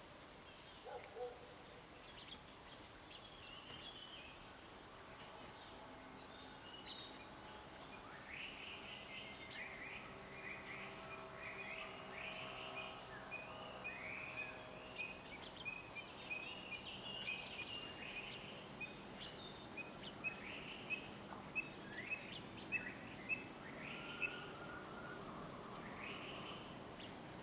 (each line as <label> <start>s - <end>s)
Bird sounds 6.6s - 27.4s